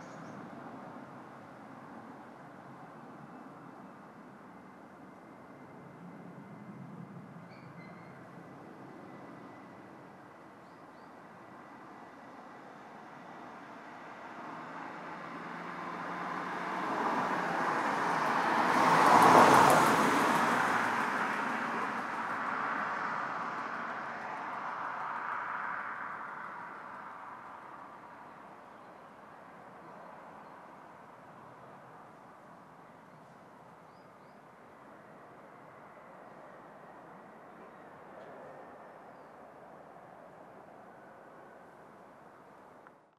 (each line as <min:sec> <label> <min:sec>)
0:12.9 Cars 0:33.1